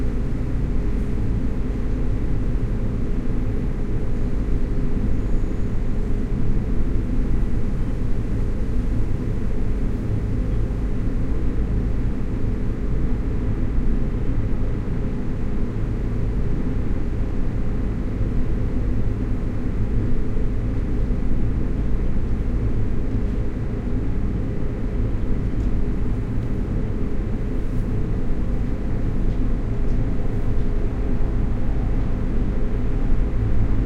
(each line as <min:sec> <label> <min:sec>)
0:00.0 giant 2m by 5m air conditioning system exhaust 0:33.8